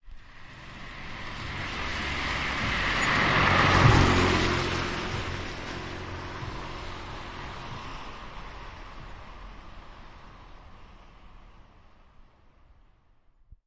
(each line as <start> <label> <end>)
0.1 passing car 13.0